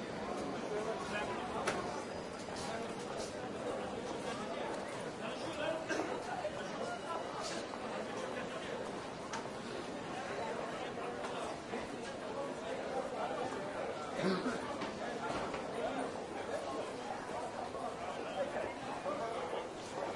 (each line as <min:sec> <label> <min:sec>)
0:00.0 train 0:04.9
0:00.0 crowd 0:20.1